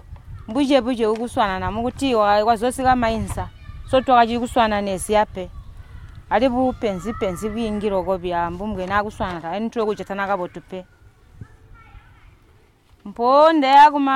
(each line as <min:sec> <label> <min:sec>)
0:00.2 women 0:14.1